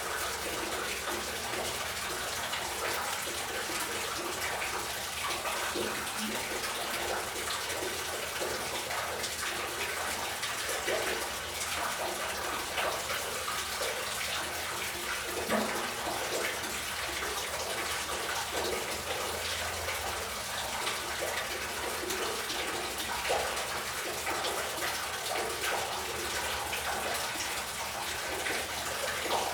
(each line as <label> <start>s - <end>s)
Water flowing in sewer 0.0s - 29.5s